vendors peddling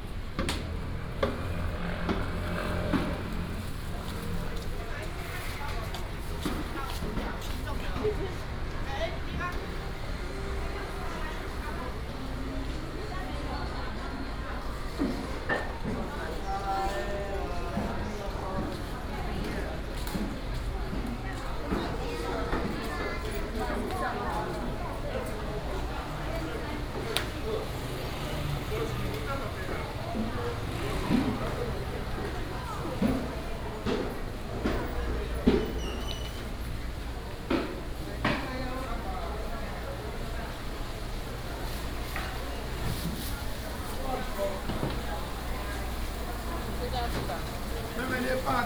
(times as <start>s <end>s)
20.3s 48.6s